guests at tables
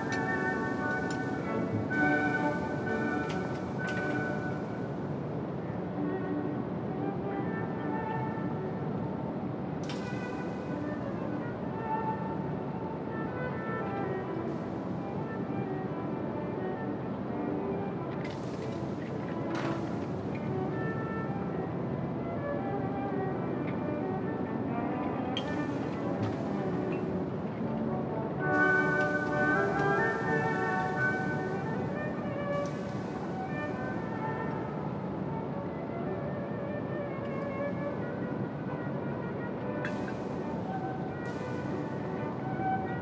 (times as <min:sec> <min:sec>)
0:00.0 0:05.5, 0:25.2 0:36.0